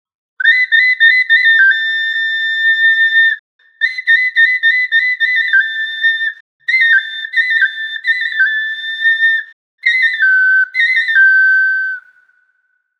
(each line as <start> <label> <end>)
0.4 Clay flute or picolo 12.5